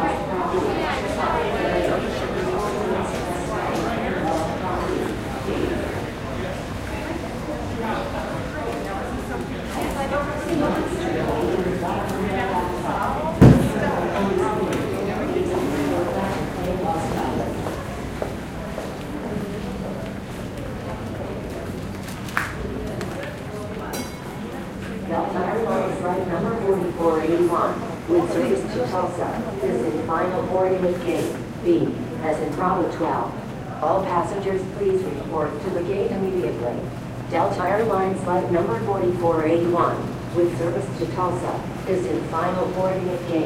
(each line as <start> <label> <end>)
0.0 pilots and flight attendant conversation 19.4
0.0 children passing by and talking 25.1
24.5 pilots and flight attendant conversation 43.4